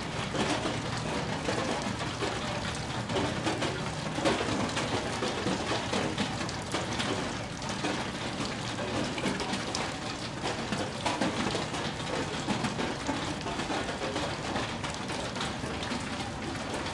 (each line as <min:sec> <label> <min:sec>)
0:00.0 raindrops falling on metal roofing 0:16.9